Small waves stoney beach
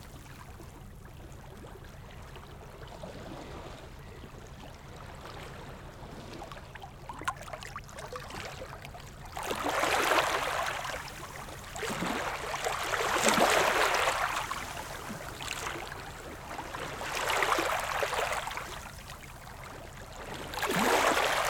7.9 21.4

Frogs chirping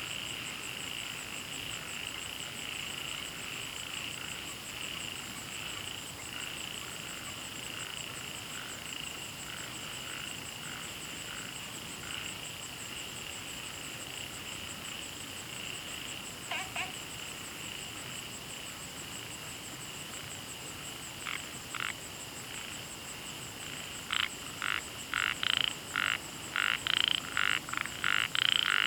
15.6 17.8, 21.2 22.8, 23.6 28.8

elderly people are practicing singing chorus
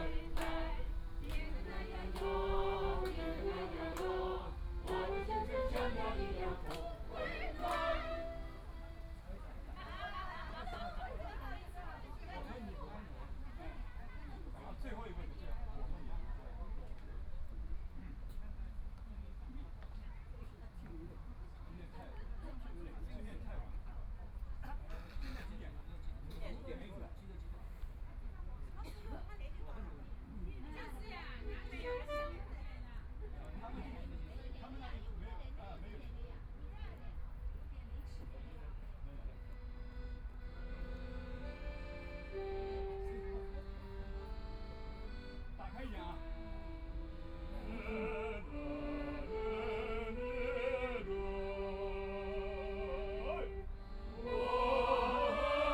0.0 9.2, 47.2 55.7

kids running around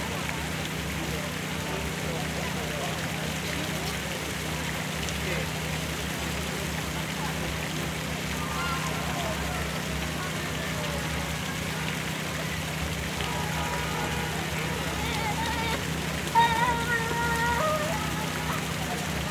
8.3 19.3

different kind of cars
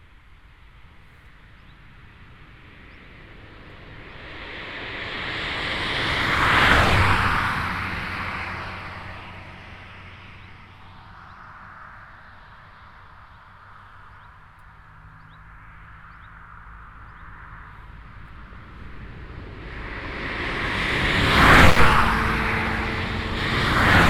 13.0 24.0

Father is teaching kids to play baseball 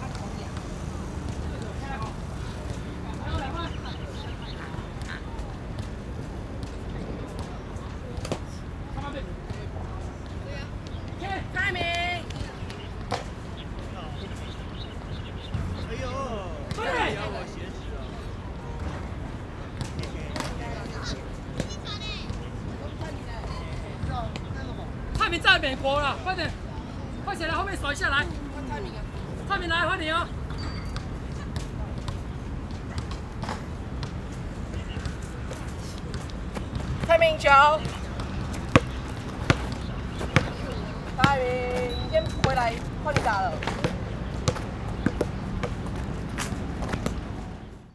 0.0 5.6, 6.2 30.8

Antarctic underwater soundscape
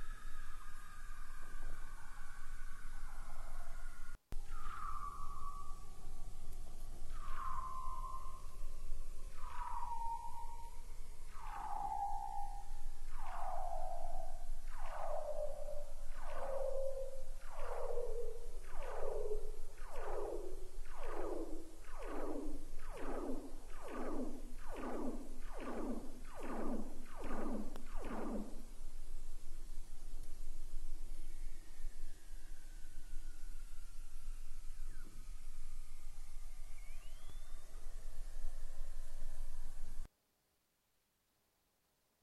7.1 8.6, 9.3 28.6

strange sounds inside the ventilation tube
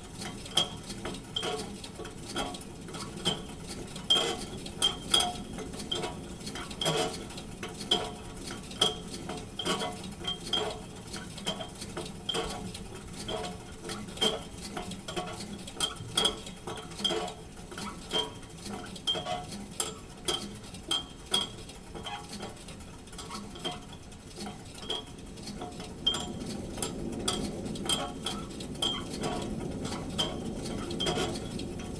25.0 31.9

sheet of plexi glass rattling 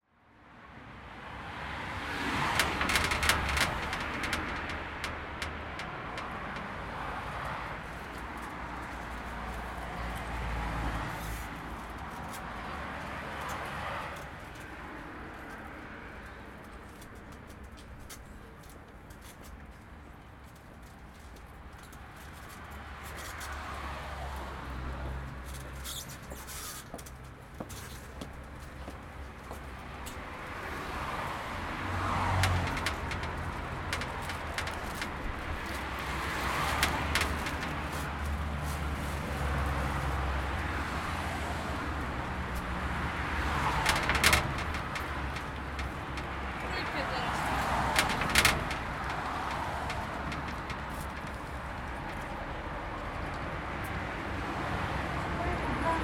2.5 6.4, 32.3 38.1, 43.5 52.3

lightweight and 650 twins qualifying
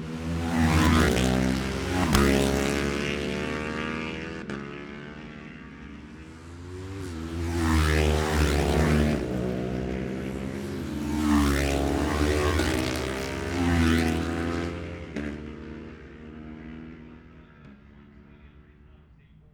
14.4 19.5

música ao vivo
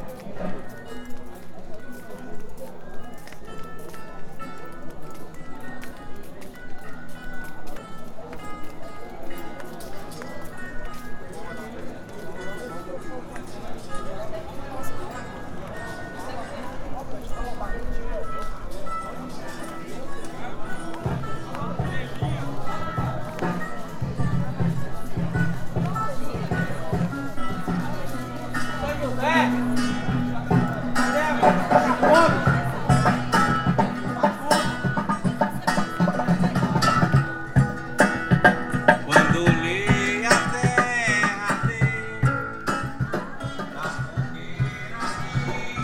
18.2 45.8

